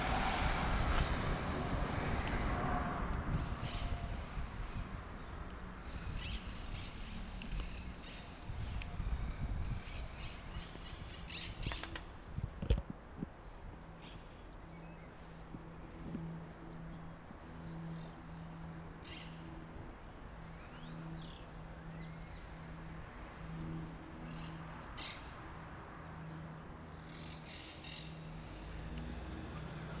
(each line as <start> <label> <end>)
0.0 bus 19.4
0.0 cars 21.4
3.3 birds 22.6
22.2 cars 30.0
23.6 birds 30.0
23.9 bus 30.0